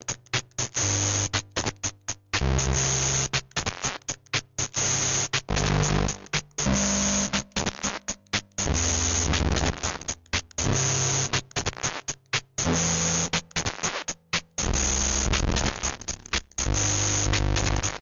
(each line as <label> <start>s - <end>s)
circuit bent keyboard 0.0s - 18.0s